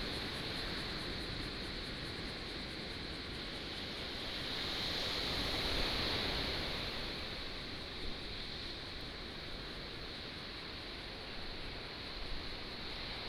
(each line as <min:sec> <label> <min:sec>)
0:03.7 waves 0:13.2